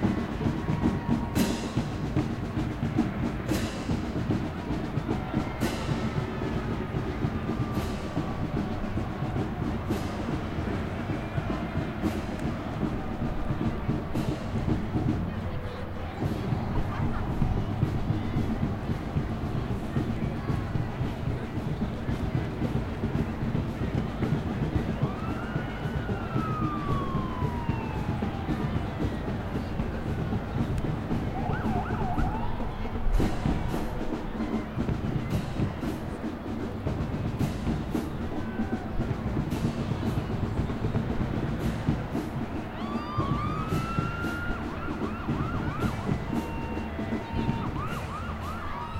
parade 0.0 - 48.9

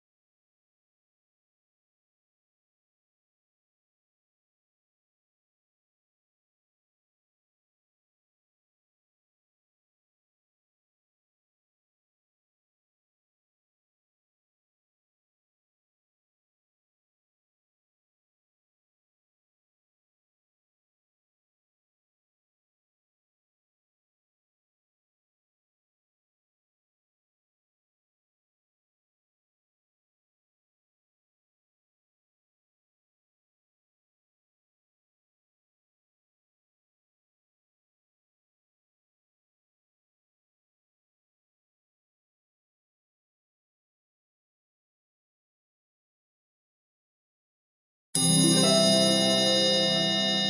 1 minute warning chime 48.2 - 50.4
harp strum 48.2 - 50.4

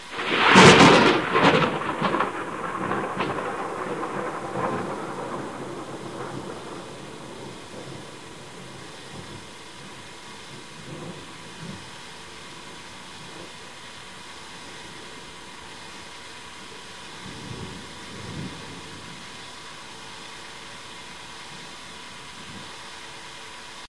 thunderclap 0.0 - 11.9
thunderclap 17.2 - 19.4

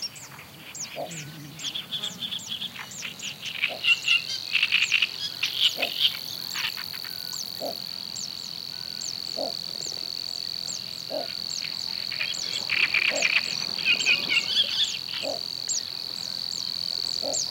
Fan-tailed Warbler 0.0 - 17.5
Great Reed Warbler 0.0 - 17.5
Little Grebe 0.0 - 17.5
buzzing insects 0.0 - 17.5
crickets 0.0 - 17.5
duck 5.8 - 6.0
duck 13.1 - 13.3

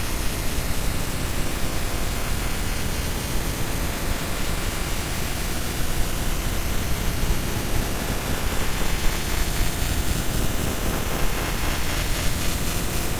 ambient droning noisescape 0.0 - 13.1

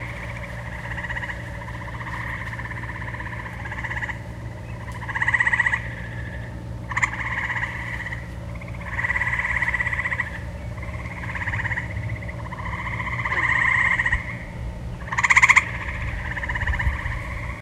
lake birds 0.0 - 17.6

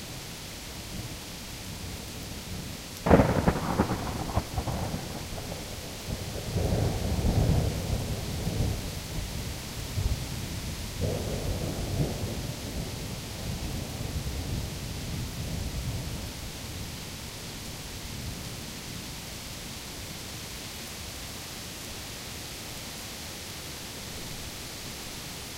Rain 0.0 - 25.5
Thunder 3.0 - 9.4
Thunder 11.0 - 14.7

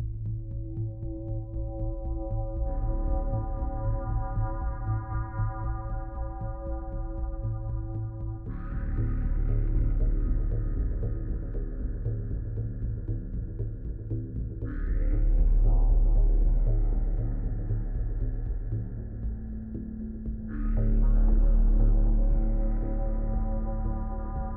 pulsating drone 0.0 - 24.5

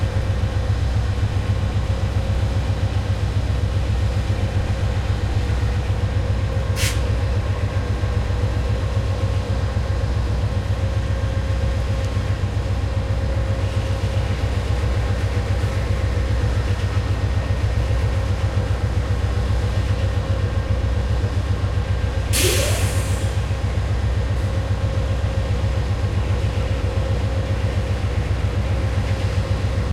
train engine 0.0 - 29.9
air brake 6.8 - 7.1
air brake 22.3 - 23.4

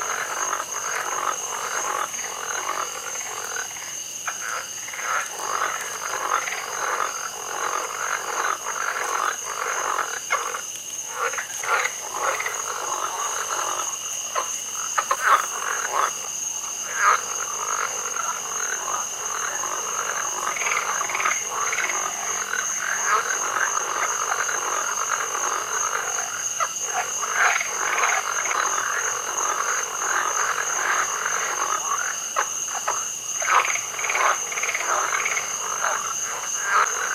Frogs 0.0 - 37.1
creek 0.0 - 37.1
insects 0.0 - 37.1
toads 0.0 - 37.1

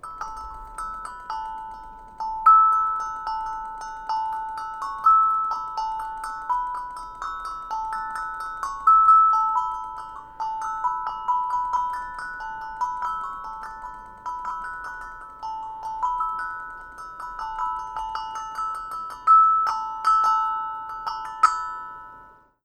steel tongue drum notes 0.0 - 22.4

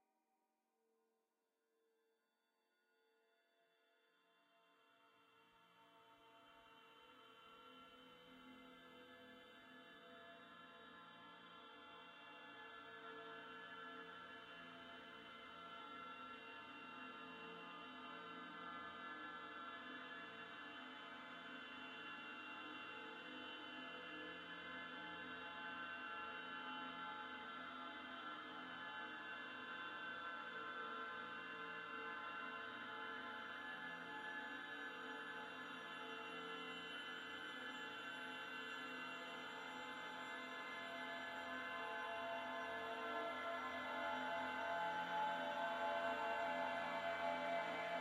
dreamscape drone 27.3 - 48.0

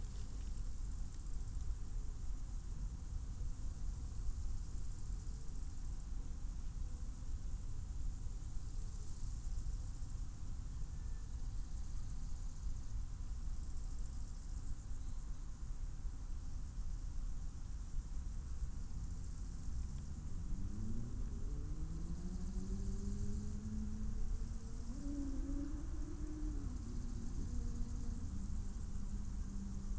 Crickets 0.0 - 29.9

